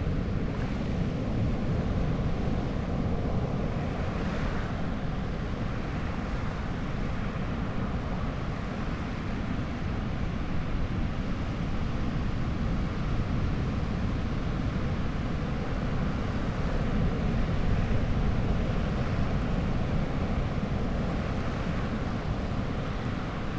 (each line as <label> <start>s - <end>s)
much weaker surf 0.0s - 23.5s